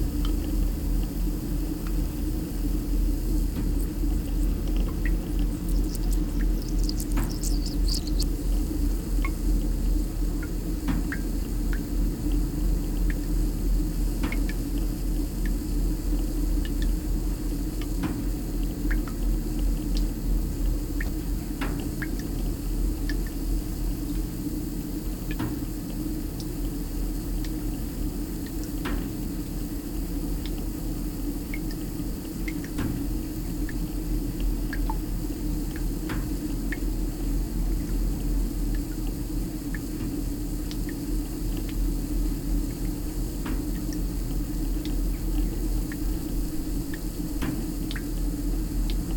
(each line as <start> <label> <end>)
1.4 leaky connection with spray & drip 9.4
38.6 leaky connection with spray & drip 49.1